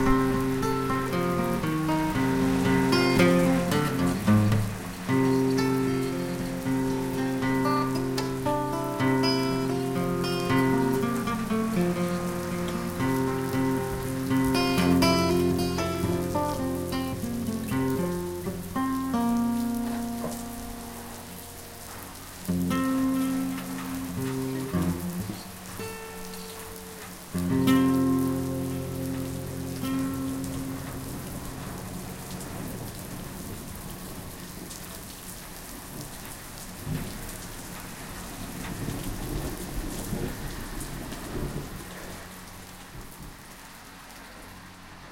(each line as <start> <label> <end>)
0.0 acustic guitar improvising 33.0
0.0 rain 45.1
35.7 washing machine 45.0